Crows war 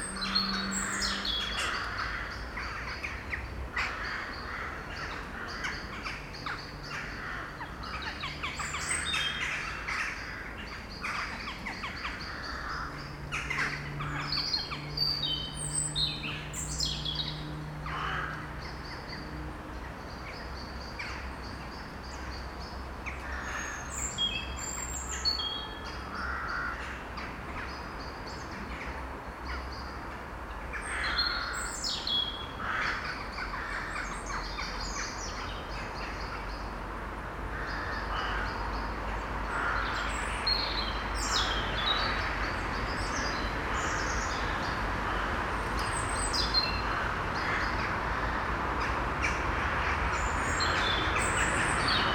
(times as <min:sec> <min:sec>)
0:00.0 0:14.8, 0:17.8 0:18.7, 0:23.0 0:23.9, 0:26.1 0:27.0, 0:30.7 0:31.8, 0:32.6 0:35.2, 0:37.5 0:38.6, 0:39.4 0:40.3, 0:43.2 0:45.4